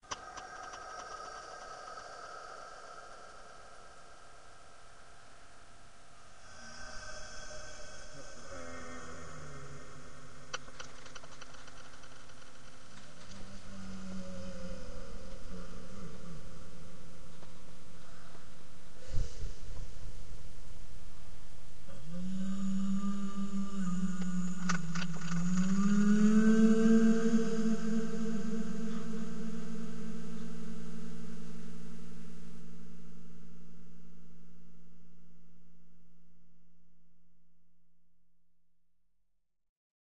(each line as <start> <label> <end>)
6.4 death vocals 10.4